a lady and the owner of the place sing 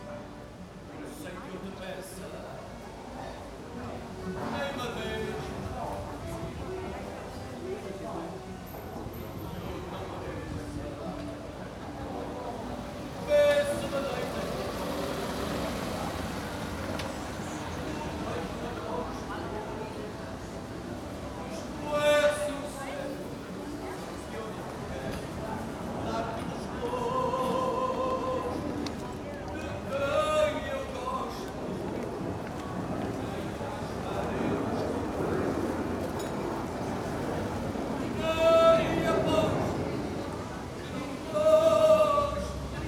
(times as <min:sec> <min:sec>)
0:26.0 0:31.7, 0:38.0 0:42.8